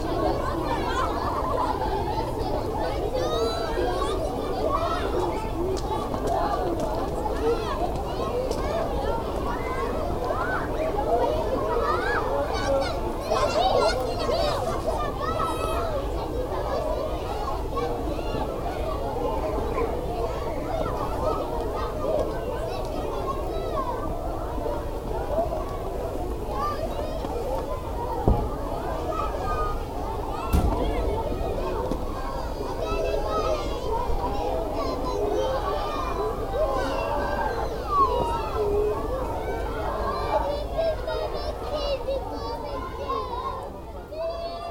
children are playing all around 0.0 - 44.7

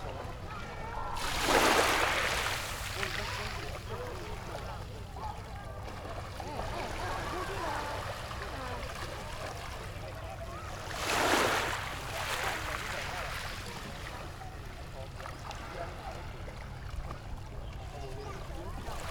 waves 0.0 - 19.1

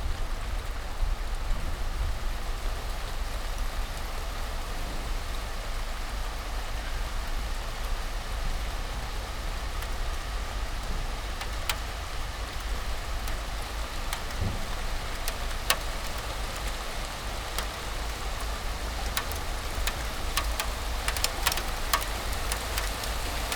rain in march, few ice crystals 0.0 - 23.5

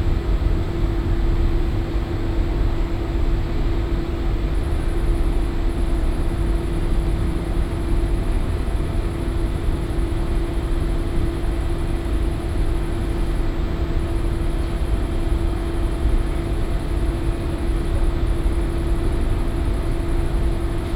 hum of commercial washing machines 0.0 - 20.9

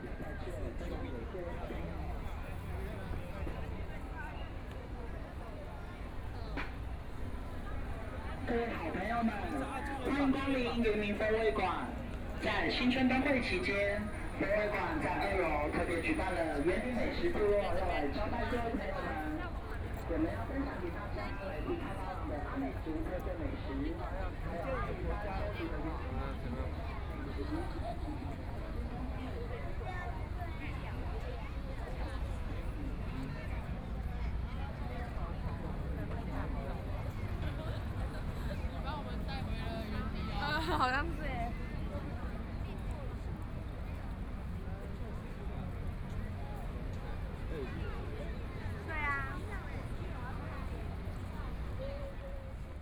Walking through the park 0.0 - 34.5
A lot of tourists 0.0 - 52.8
Traffic Sound 1.9 - 23.5

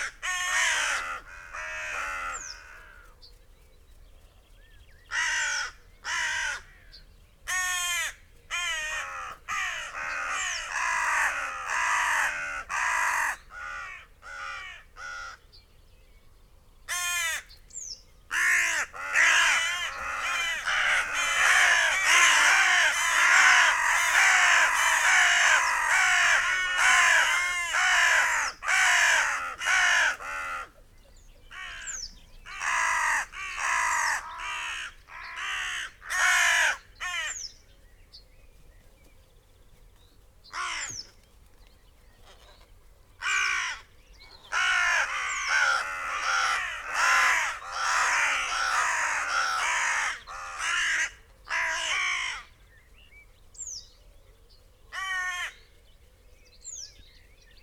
crows 0.0 - 3.2
loose flock of crows flapped 0.0 - 6.9
crows 5.1 - 15.5
crows 16.9 - 17.6
crows 18.3 - 30.8
loose flock of crows flapped 18.3 - 30.8
crows 31.5 - 37.5
loose flock of crows flapped 38.5 - 52.6
crows 40.5 - 41.2
crows 43.2 - 52.6
crows 54.9 - 55.8

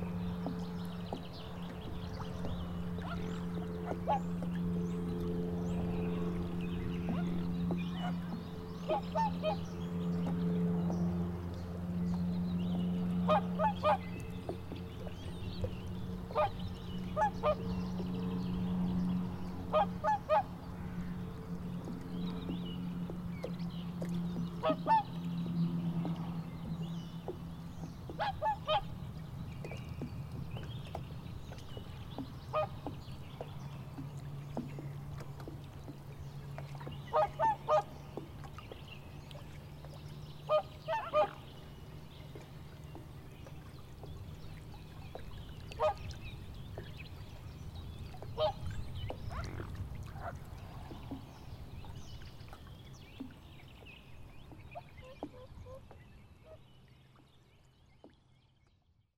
water beating agants boat 0.0 - 59.0
swans 2.2 - 4.6
swans 7.0 - 10.4
swans 12.8 - 21.2
swans 23.4 - 26.4
swans 27.2 - 29.0
swans 30.6 - 36.0
swans 36.6 - 53.4
swans 54.5 - 56.7

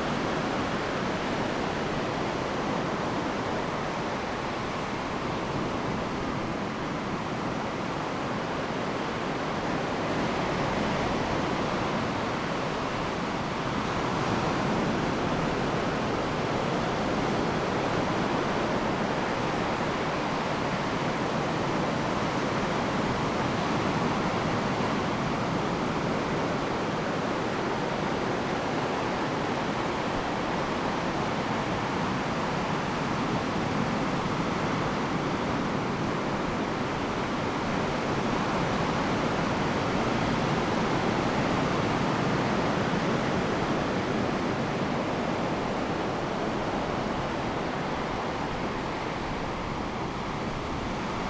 waves 2.1 - 51.2

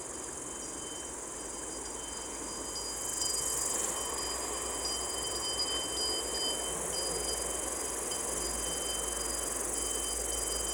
insects 0.0 - 10.7

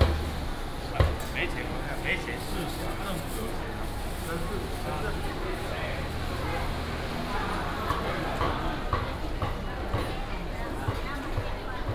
Walking in the market 0.0 - 11.9

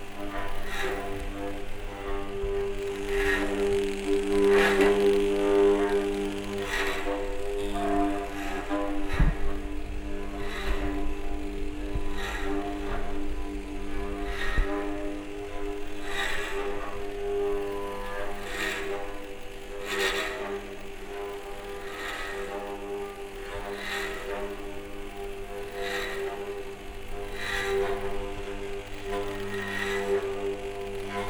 Self-oscillating guitar 0.0 - 31.2

